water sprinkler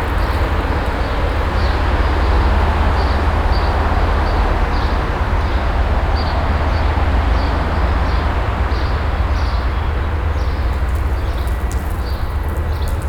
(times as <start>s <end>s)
0.0s 2.0s, 10.4s 13.0s